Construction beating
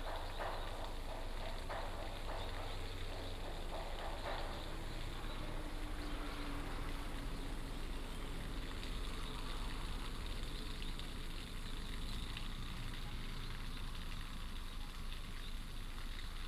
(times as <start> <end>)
0.0 7.2